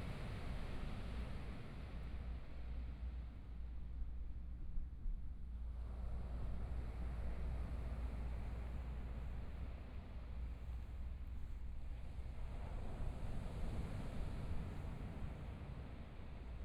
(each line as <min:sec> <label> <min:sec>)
0:06.0 waves 0:16.6